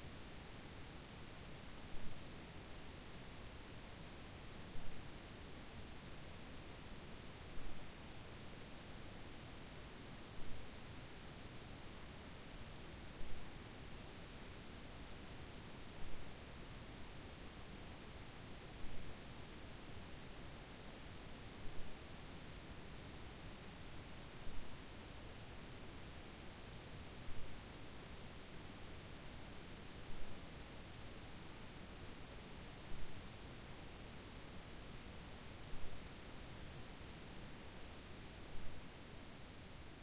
crickets 0.0 - 40.0

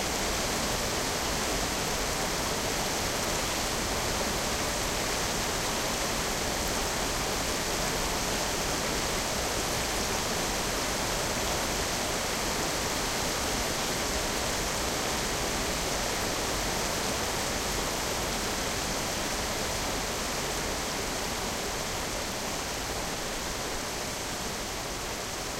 Small Waterfall 0.0 - 25.5

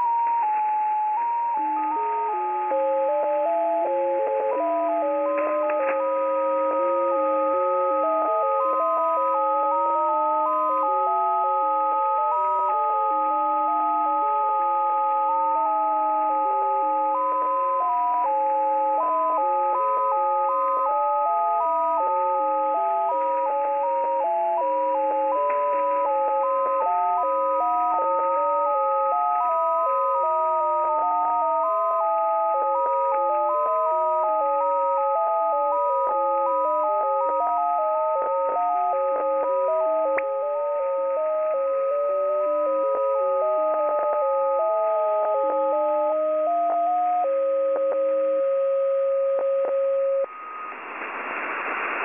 Two melodies 0.0 - 50.4
static 47.2 - 52.0

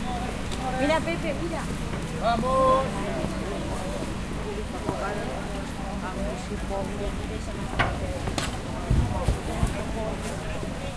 background talking 0.0 - 10.9

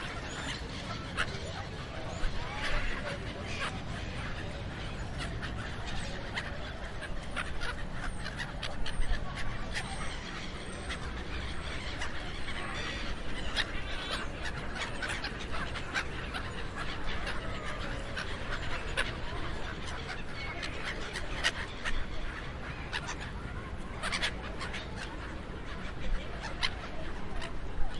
Seagulls 0.0 - 27.9

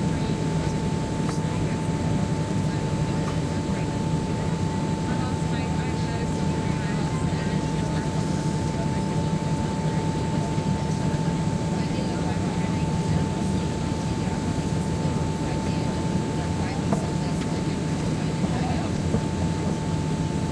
Passenger plane landing 0.0 - 20.5

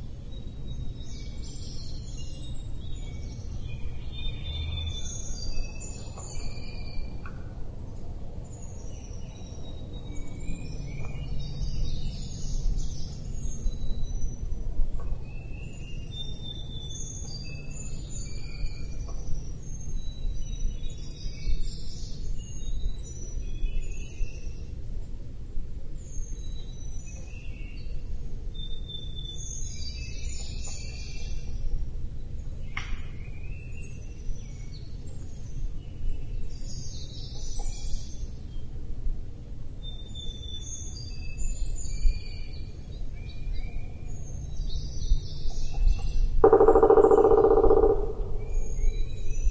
woodpecker 45.4 - 49.5

